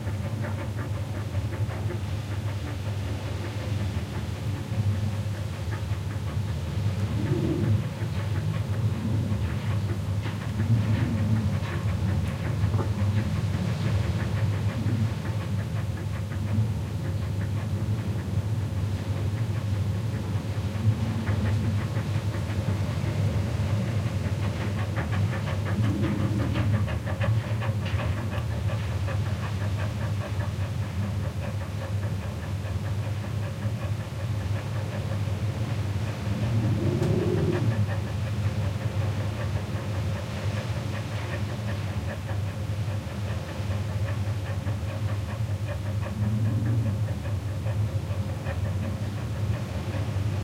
Rumble of wind outside 0:00.0 - 0:50.4
dog pantings inside 0:00.0 - 0:50.4

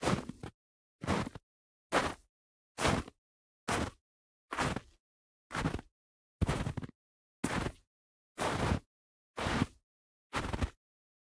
Footsteps Mountain Boots Snow Walk 0:00.0 - 0:07.8
Footsteps Mountain Boots Snow Walk 0:08.4 - 0:08.8
Footsteps Mountain Boots Snow Walk 0:09.4 - 0:10.8

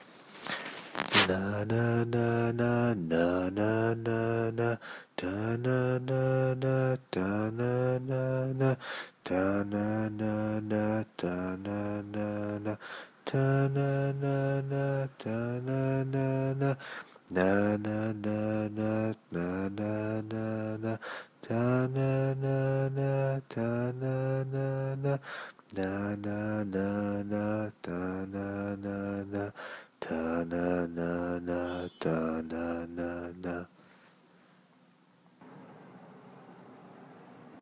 my voice 0:01.0 - 0:05.5

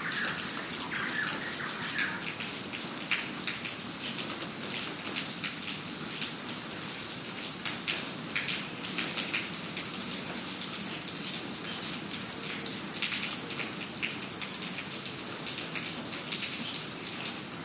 bird callings 0:00.0 - 0:02.6
rain on pavement 0:00.0 - 0:17.6

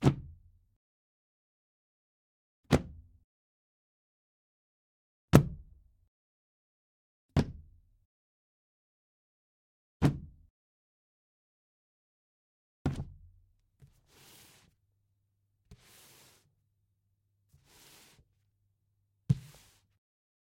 Dropping a phone book on a table 0:19.3 - 0:19.9

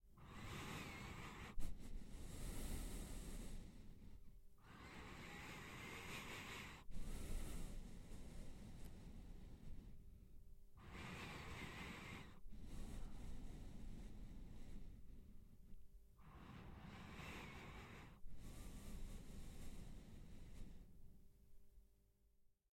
Nose Breathing 0:00.2 - 0:10.2
Nose Breathing 0:10.8 - 0:21.3

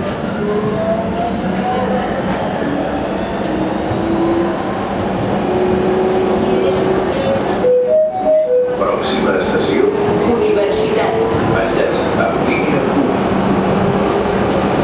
Subway train sounds 0:00.0 - 0:14.8
People talking 0:06.2 - 0:08.1
Acoustic signals 0:07.6 - 0:09.5
People talking 0:08.7 - 0:13.2

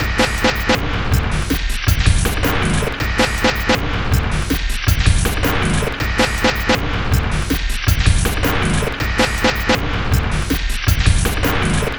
Drum Loop 0:00.0 - 0:11.9

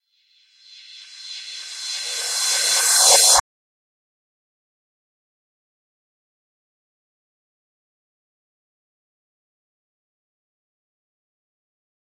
Reverse Cymbal 0:00.7 - 0:03.4

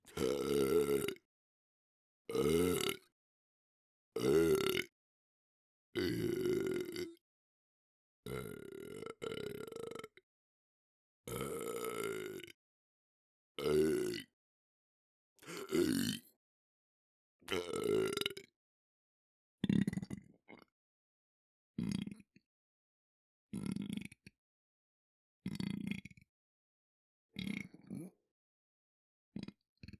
Burps - Open Mouth & Closed 0:00.1 - 0:01.2
Burps - Open Mouth & Closed 0:02.3 - 0:03.1
Burps - Open Mouth & Closed 0:04.2 - 0:04.9
Burps - Open Mouth & Closed 0:06.0 - 0:07.2
Burps - Open Mouth & Closed 0:08.3 - 0:10.2
Burps - Open Mouth & Closed 0:11.3 - 0:12.6
Burps - Open Mouth & Closed 0:13.6 - 0:14.3
Burps - Open Mouth & Closed 0:15.4 - 0:16.4
Burps - Open Mouth & Closed 0:17.5 - 0:18.5
Burps - Open Mouth & Closed 0:19.6 - 0:20.7
Burps - Open Mouth & Closed 0:21.8 - 0:22.3
Burps - Open Mouth & Closed 0:23.6 - 0:24.3
Burps - Open Mouth & Closed 0:25.5 - 0:26.2
Burps - Open Mouth & Closed 0:27.4 - 0:28.2
Burps - Open Mouth & Closed 0:29.4 - 0:29.9

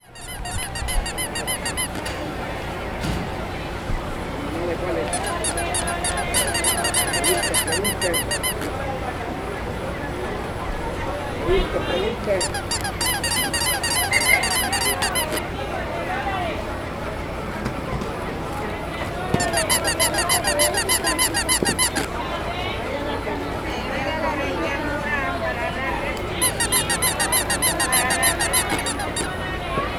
rabbit dolls emitting high sound 0:00.0 - 0:02.3
rabbit dolls emitting high sound 0:05.1 - 0:08.8
rabbit dolls emitting high sound 0:12.4 - 0:15.5
rabbit dolls emitting high sound 0:19.3 - 0:22.2
rabbit dolls emitting high sound 0:26.3 - 0:29.4

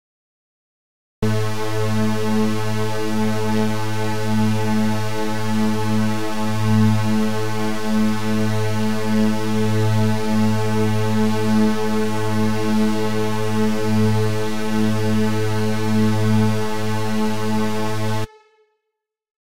String sounding created with layered saw waveforms 0:01.2 - 0:18.5

